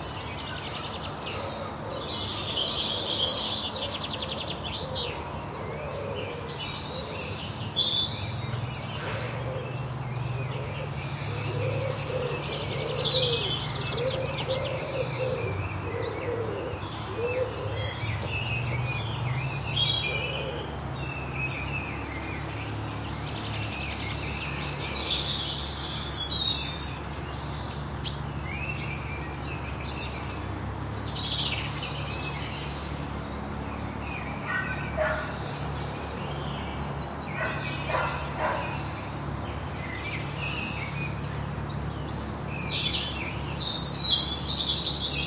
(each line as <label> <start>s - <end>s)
birds 0.0s - 45.2s